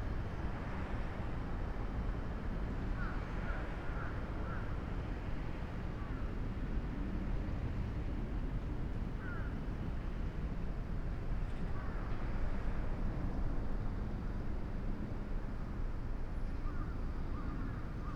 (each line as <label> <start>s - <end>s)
passengers trains 0.0s - 18.1s
crows 9.2s - 9.5s